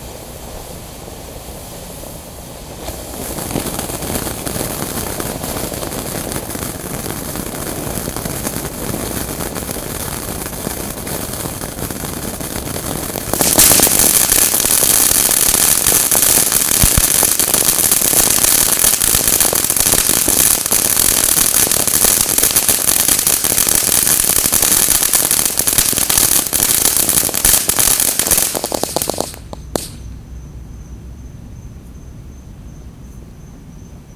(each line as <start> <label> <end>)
0.0 Fireworks 30.2